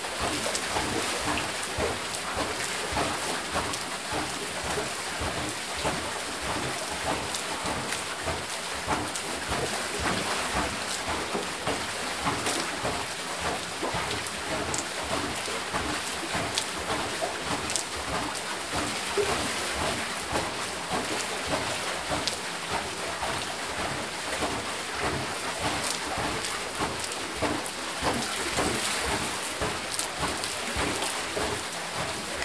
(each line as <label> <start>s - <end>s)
canal leading the waters 0.0s - 32.4s
wheel of the oil mill 0.1s - 32.4s